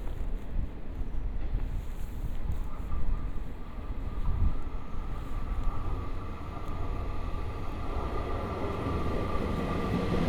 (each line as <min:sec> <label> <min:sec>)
0:04.6 Train traveling through 0:10.2